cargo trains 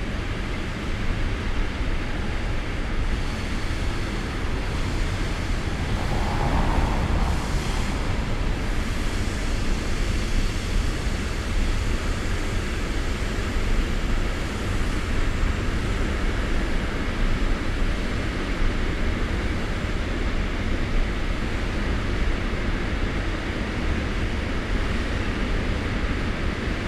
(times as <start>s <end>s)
0.1s 15.4s